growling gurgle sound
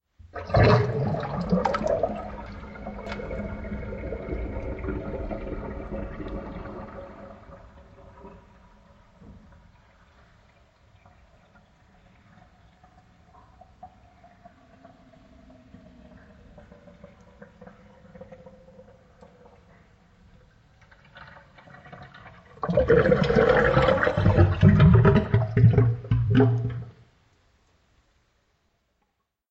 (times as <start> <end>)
0.4 9.2, 22.5 26.9